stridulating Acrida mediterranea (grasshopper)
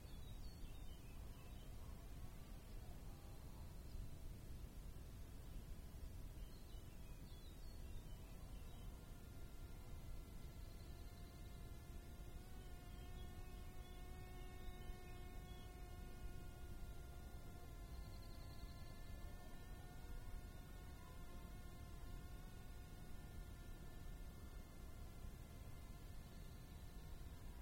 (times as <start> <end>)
7.5 27.6